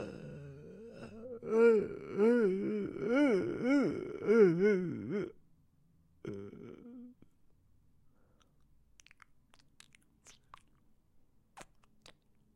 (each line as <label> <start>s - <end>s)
funny moans 0.0s - 5.4s
funny moans 6.2s - 7.2s
wet sound made with my mouth 8.4s - 10.9s
wet sound made with my mouth 11.5s - 12.5s